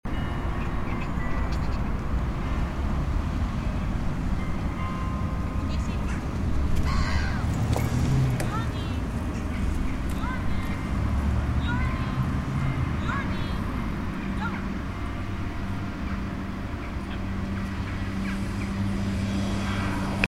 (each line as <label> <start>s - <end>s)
Bells of the Grote Kerk in the distance 3.6s - 8.8s